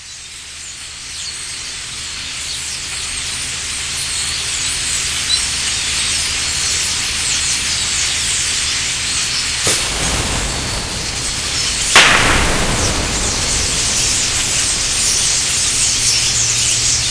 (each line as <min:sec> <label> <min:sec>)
0:09.6 bottle rockets 0:17.1
0:09.6 starling 0:17.1